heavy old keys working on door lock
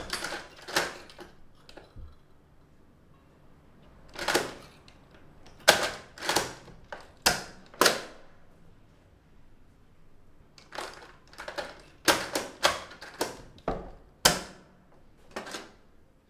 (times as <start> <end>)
0.0 2.8, 3.8 8.3, 10.6 16.0